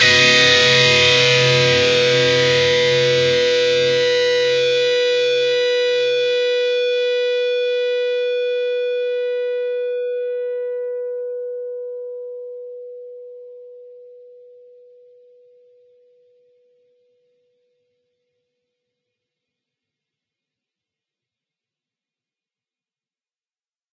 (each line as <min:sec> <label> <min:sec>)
0:00.0 distorted guitar 0:09.7